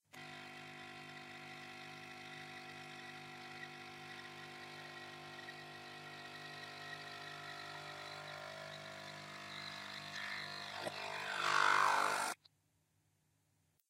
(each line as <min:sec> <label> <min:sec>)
0:00.0 Nespresso machine brewing coffee 0:12.4